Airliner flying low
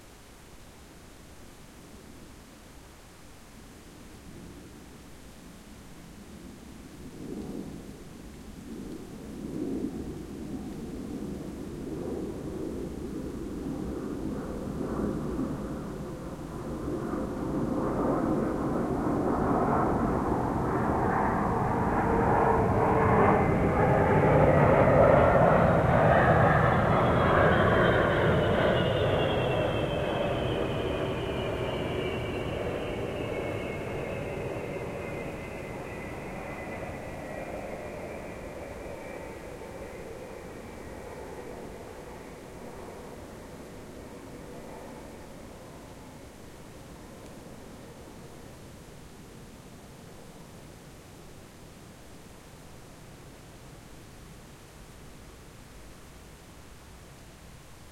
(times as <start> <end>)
6.9 48.7